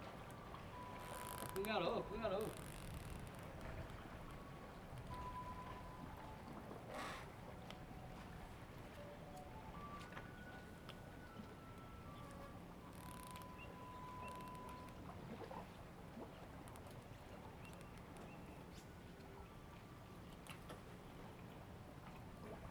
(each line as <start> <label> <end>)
0.0 Tide 22.7